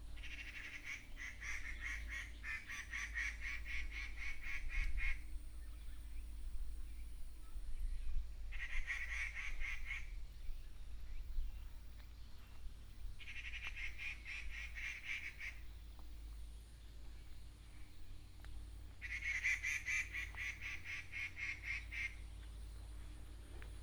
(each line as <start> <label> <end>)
0.0 plane 23.8
0.1 Birds call 23.8